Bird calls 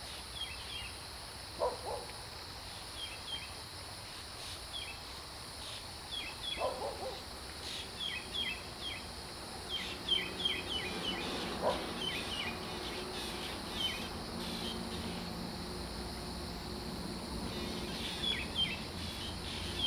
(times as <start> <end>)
6.2 19.8